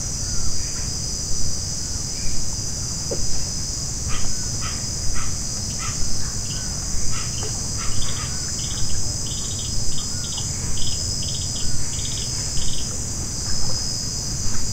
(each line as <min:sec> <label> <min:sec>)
0:00.0 insects 0:14.7
0:00.1 motorboats travel down the nearby Madre De Dios River 0:14.7
0:04.1 Birds are close 0:12.9